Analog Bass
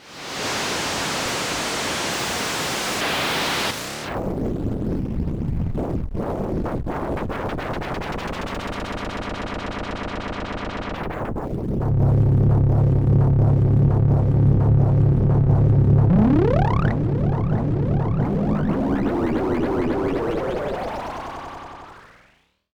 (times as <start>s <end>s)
6.2s 22.2s